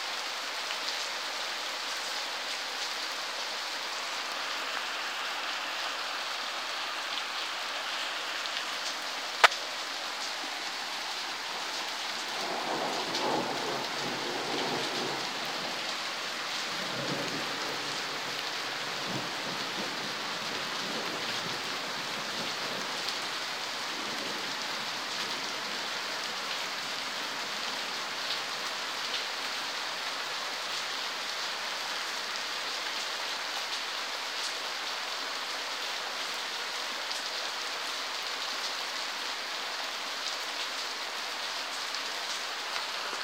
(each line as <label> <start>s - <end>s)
Rain on leaves,ground 0.0s - 43.2s